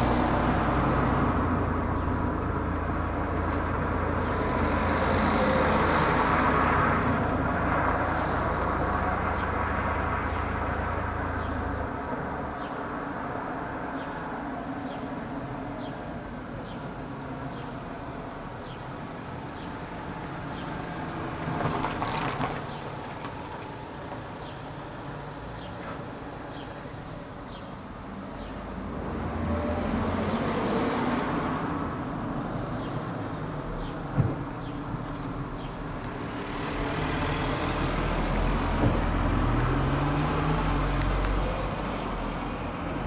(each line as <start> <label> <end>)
0.0 Cars 43.0